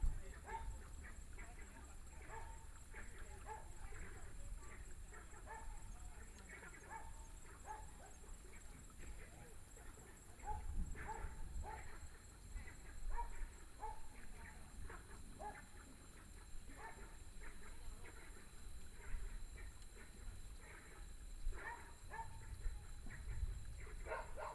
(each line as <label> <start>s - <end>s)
Frogs sound 0.0s - 24.5s
Dogs barking 0.4s - 1.2s
Dogs barking 2.2s - 3.8s
Dogs barking 5.1s - 5.9s
Dogs barking 6.8s - 8.2s
Dogs barking 10.4s - 12.4s
Dogs barking 13.0s - 14.3s
Dogs barking 14.9s - 18.3s
Dogs barking 21.5s - 24.5s